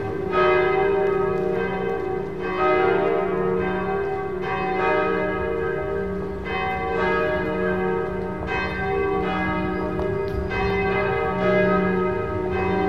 church bells 0.0 - 12.8

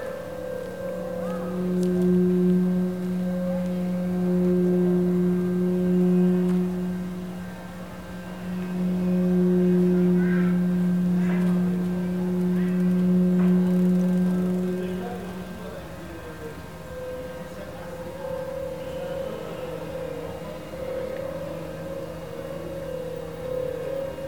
vertical resonator 0.0 - 24.2

